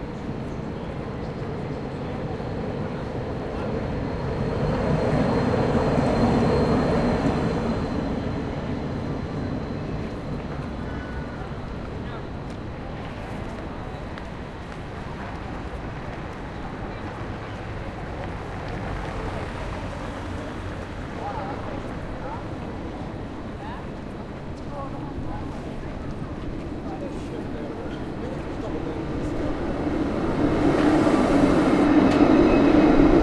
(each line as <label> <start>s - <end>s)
trams 0.0s - 33.2s
a few cars 0.1s - 24.6s